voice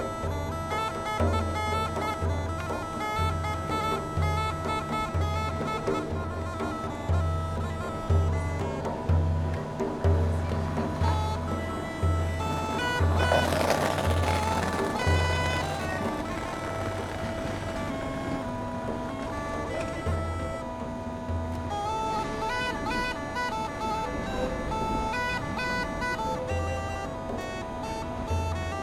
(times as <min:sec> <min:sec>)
0:10.1 0:18.4